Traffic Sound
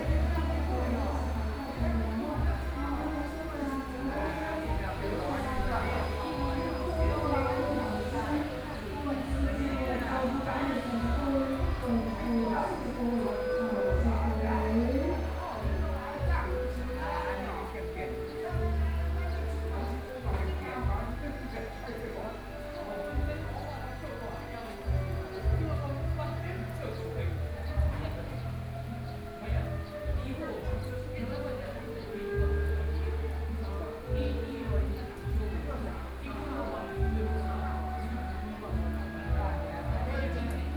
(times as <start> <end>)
0.0 21.0